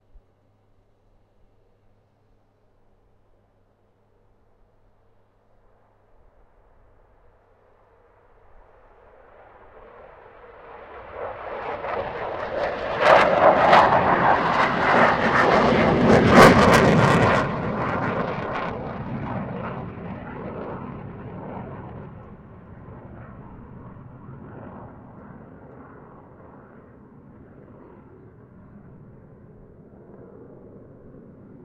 two F16 fighter jets taking off from runway 0:04.4 - 0:31.6

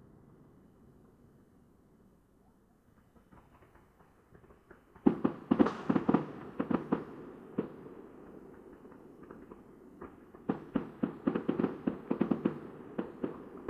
fireworks 0:02.7 - 0:13.6

